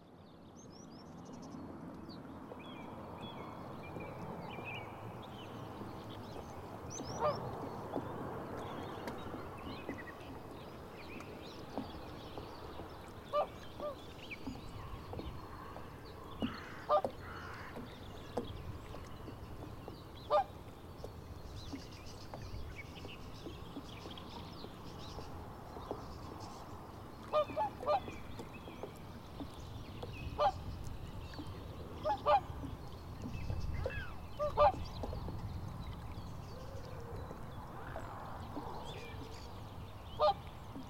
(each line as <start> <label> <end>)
0.5 water beating agants boat 40.8
6.1 swans 40.8